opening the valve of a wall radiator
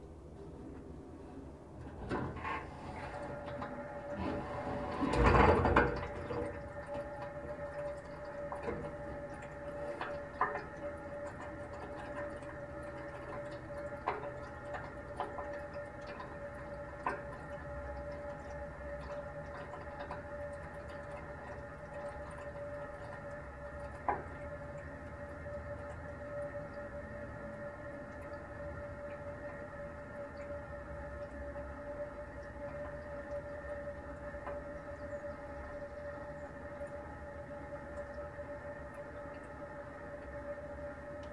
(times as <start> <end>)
1.8 6.5